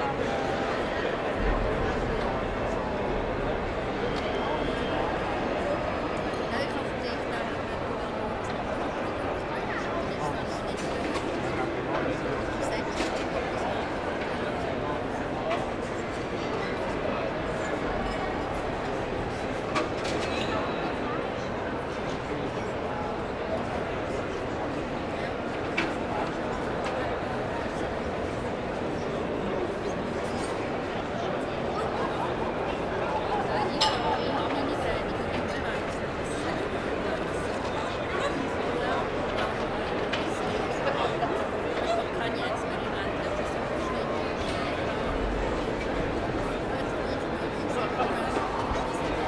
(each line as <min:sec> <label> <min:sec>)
0:00.0 people eating & drinking 0:49.2